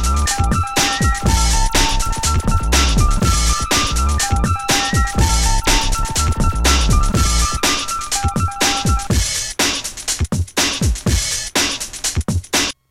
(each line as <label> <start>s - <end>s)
synth 0.0s - 9.1s
breakbeats 0.0s - 12.9s